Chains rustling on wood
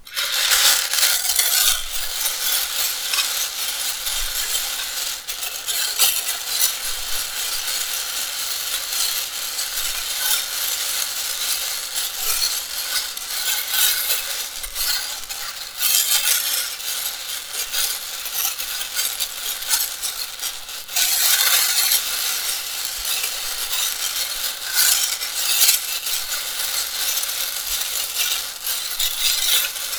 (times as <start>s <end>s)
0.0s 4.8s